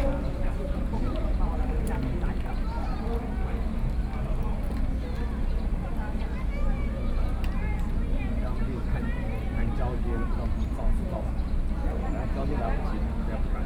Visitors taking a break chat 0.0 - 13.6

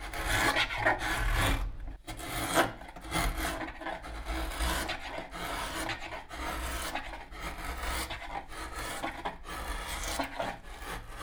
Planing the wood (spruce) 0.1 - 11.2

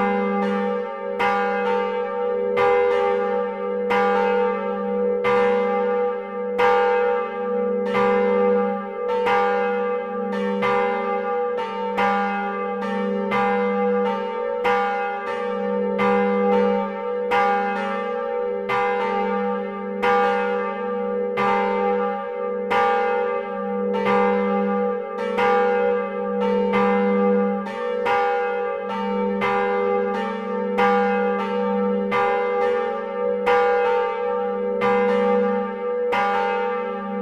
two bells of the church 0.0 - 37.2

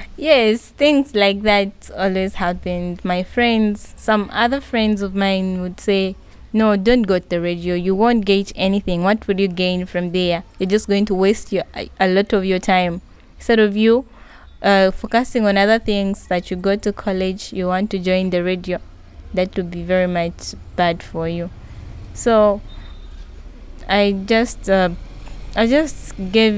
motorcycle-taxi crosses the school grounds 16.4 - 26.5

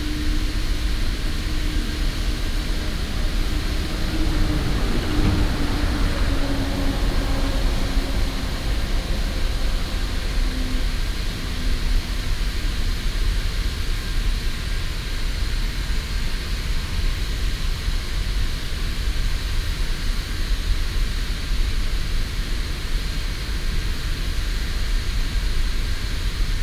Petrochemical Factory Sound 0.0 - 13.0
Traffic sound 0.0 - 13.6

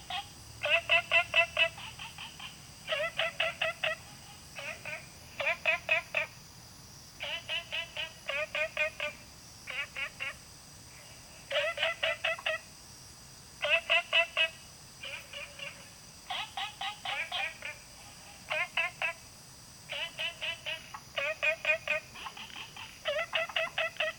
Different kinds of frogs chirping 0.0 - 24.1
Insect sounds 0.0 - 24.1

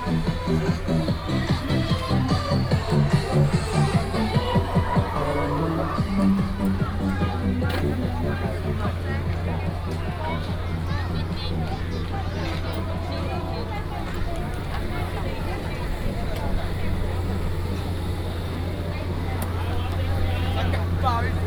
Walking in the night market 0.0 - 21.4
traffic sound 0.0 - 21.4
vendors peddling 0.0 - 21.4

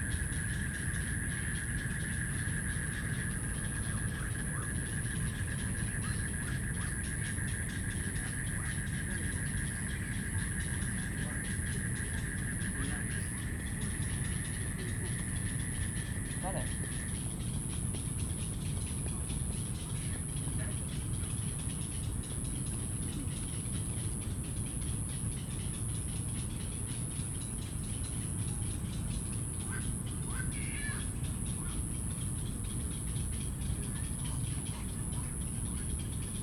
Bird calls 0.0 - 36.4
Frogs chirping 0.0 - 36.4

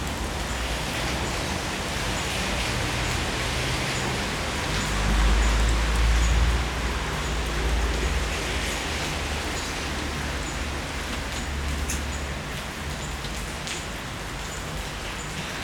urban rain 0.0 - 15.6
wall of traffic noise 0.0 - 15.6

